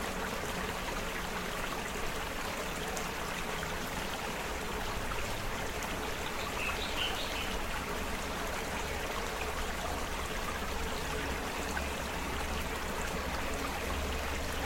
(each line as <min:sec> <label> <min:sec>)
0:00.0 small stream 0:14.6